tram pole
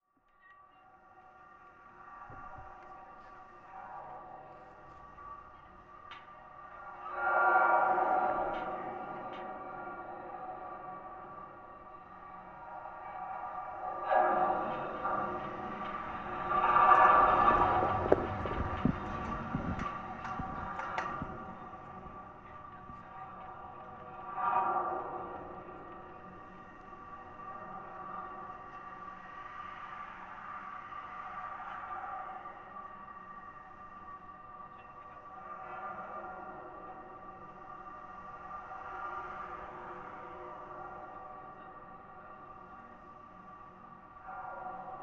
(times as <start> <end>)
13.8 26.6